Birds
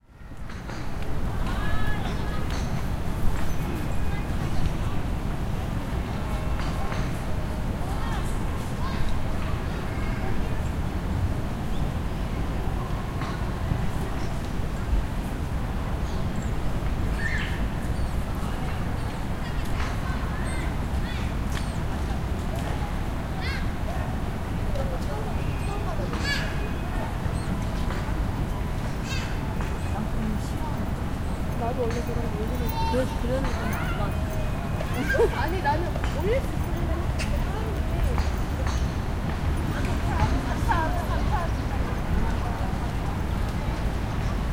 16.1s 22.0s

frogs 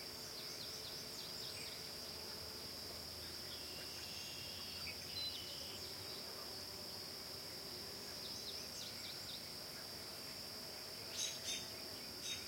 8.1s 12.4s

